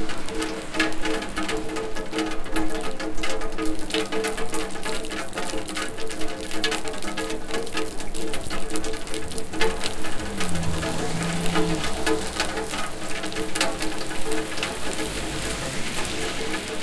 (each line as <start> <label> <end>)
0.0 rain through rainwater down pipe 16.8